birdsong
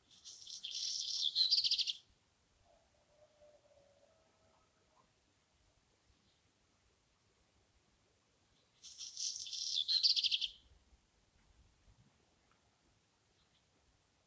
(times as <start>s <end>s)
0.0s 2.1s, 8.5s 10.7s